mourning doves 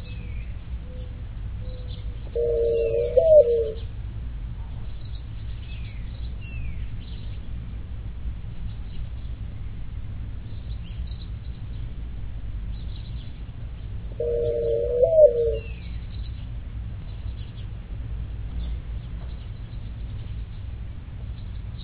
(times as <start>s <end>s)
0.0s 4.0s, 12.6s 17.8s